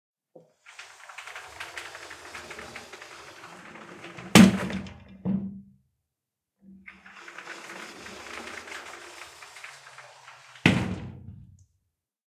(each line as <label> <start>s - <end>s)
Sliding a glass door 0.4s - 5.3s
Sliding a glass door 6.7s - 11.6s